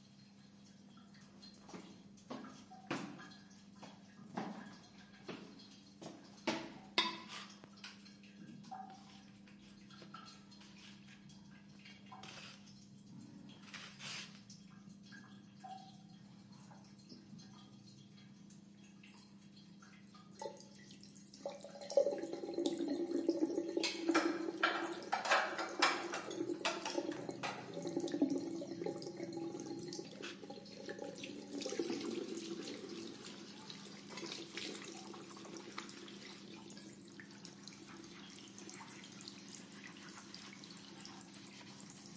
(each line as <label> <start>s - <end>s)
washing 8.6s - 14.8s
washing 21.3s - 42.1s